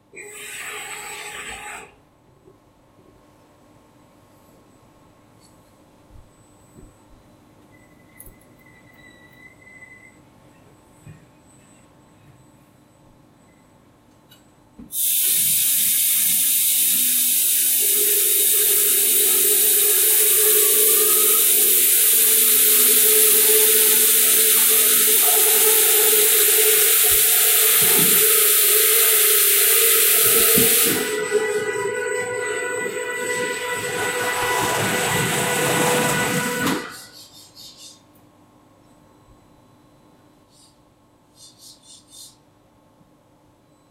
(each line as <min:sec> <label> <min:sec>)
0:16.1 Laser Machine Diagnostic Start Up 0:37.1